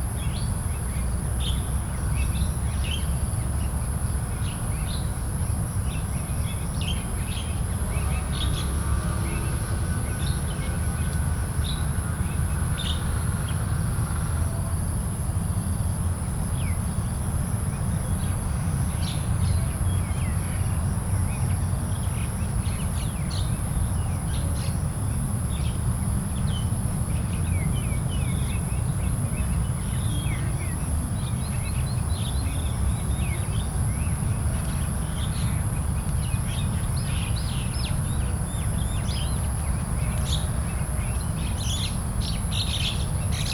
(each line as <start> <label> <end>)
18.1 birds is making sounds 43.5